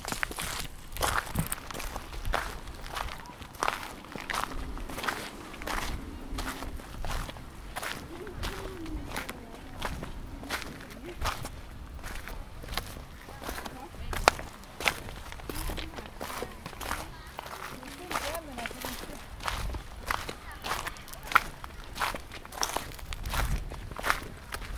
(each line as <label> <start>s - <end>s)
Walking downhill on a stony trail 0.0s - 24.7s
Windy 1.3s - 24.7s